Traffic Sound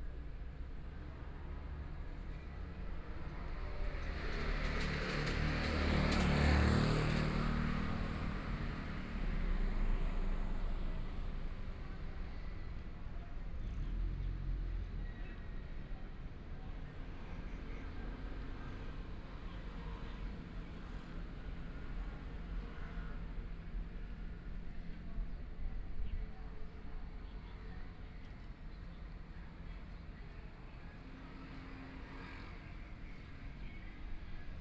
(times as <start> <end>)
0.5 26.2